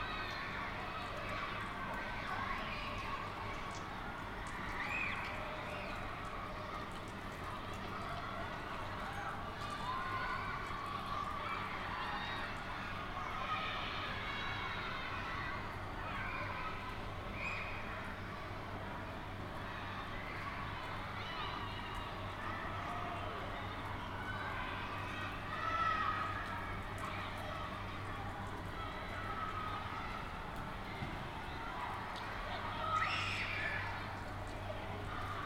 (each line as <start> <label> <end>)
0.0 Children playing in the rain 35.4